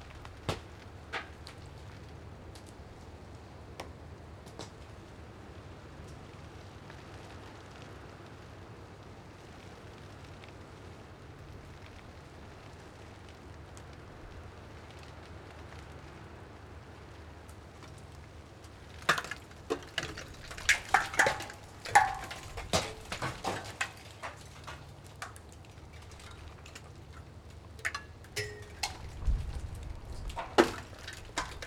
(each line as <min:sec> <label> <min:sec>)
0:17.3 cracking sleet on a bush 0:31.6
0:18.0 Ice falling from tower 0:31.6